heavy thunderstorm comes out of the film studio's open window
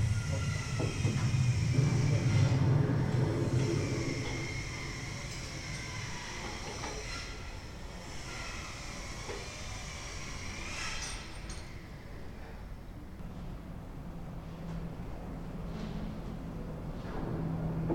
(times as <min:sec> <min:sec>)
0:00.8 0:04.9